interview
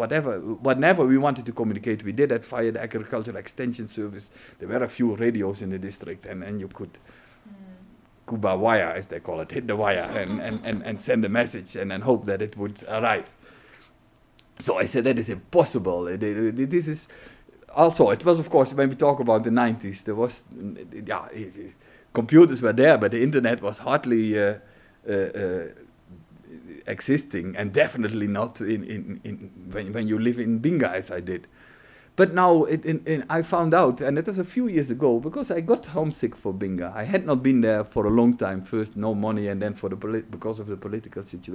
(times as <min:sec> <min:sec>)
0:00.0 0:13.5